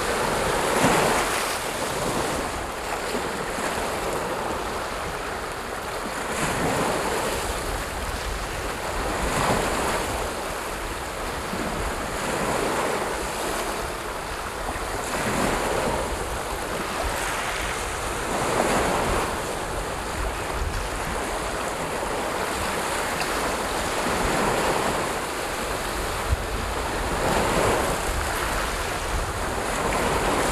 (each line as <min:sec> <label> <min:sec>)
0:00.0 medium heavy waves 0:30.5